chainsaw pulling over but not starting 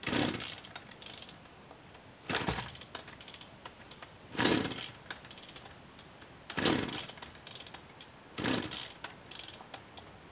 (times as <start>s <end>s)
0.0s 1.2s, 2.3s 3.1s, 4.3s 5.4s, 6.5s 7.7s, 8.4s 9.5s